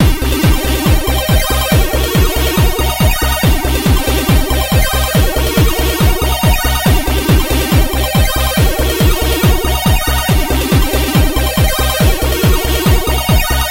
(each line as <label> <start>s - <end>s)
chiptune 0.0s - 13.7s